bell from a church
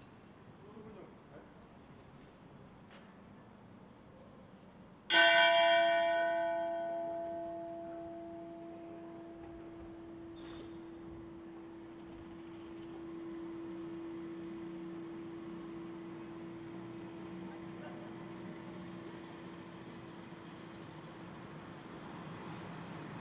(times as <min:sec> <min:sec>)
0:05.1 0:19.8